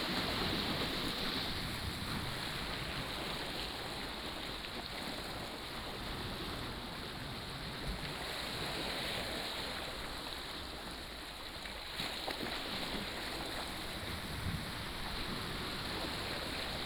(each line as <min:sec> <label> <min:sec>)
0:00.0 waves 0:16.8